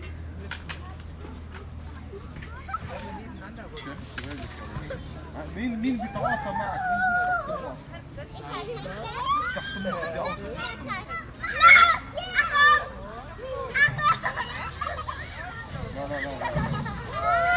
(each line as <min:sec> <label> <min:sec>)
0:00.0 children 0:17.5
0:04.0 playground slide 0:17.5